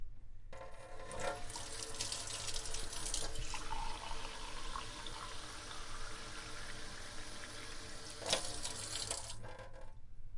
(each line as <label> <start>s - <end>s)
Pouring a glass of water 1.3s - 9.4s